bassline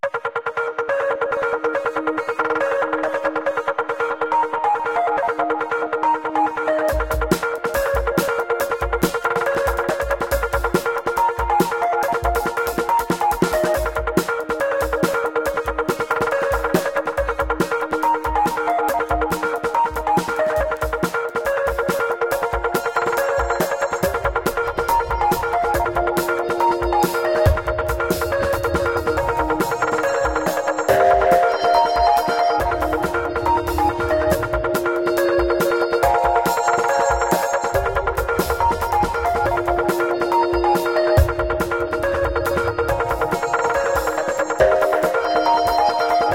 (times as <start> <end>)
15.8 46.3